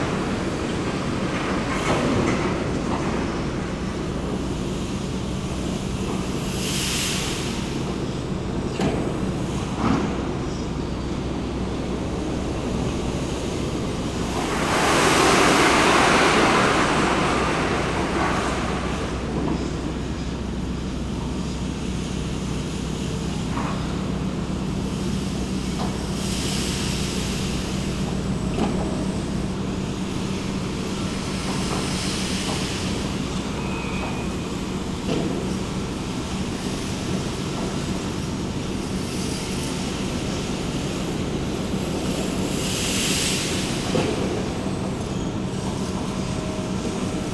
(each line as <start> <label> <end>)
0.0 worker moving an enormous overhead crane 47.3